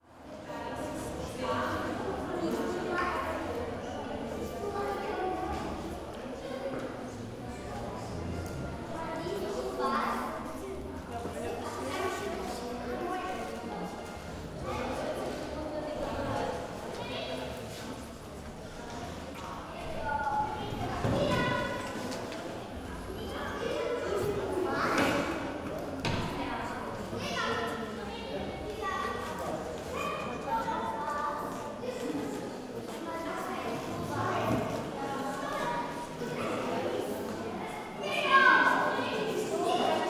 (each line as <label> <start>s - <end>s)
people of all ages 0.0s - 40.0s